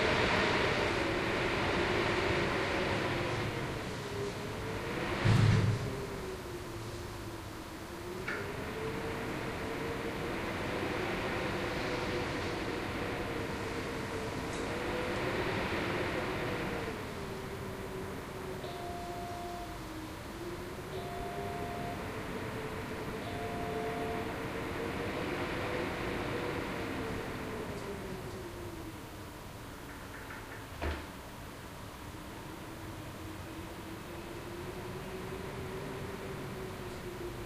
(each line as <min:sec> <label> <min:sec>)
0:00.0 WIND IN MUSEUM LIFTSHAFT 0:37.4
0:14.5 noise from the lift's calling system 0:28.5